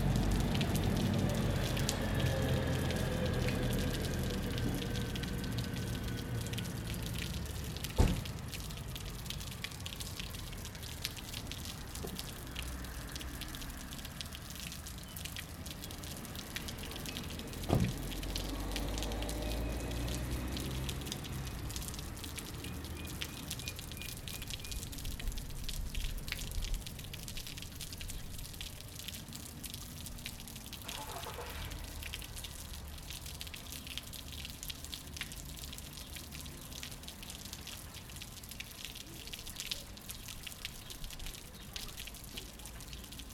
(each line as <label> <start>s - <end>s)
buses that past the square 0.0s - 9.6s
Water dripping from the upper half to the lower 0.0s - 43.3s
buses that past the square 15.9s - 25.6s